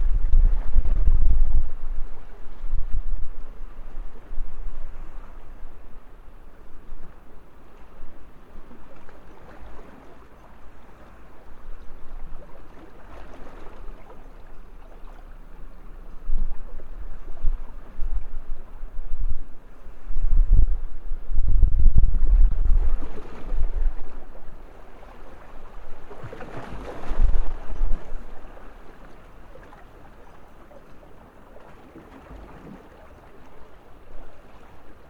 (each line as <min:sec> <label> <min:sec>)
0:00.0 sea-water 0:35.0